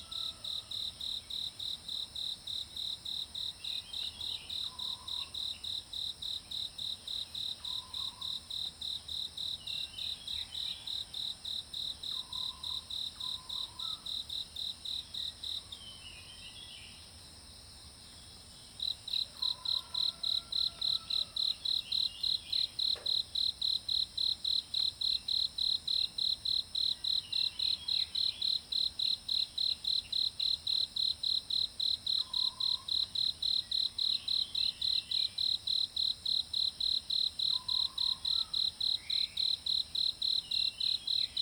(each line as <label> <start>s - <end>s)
Insect sounds 0.0s - 41.4s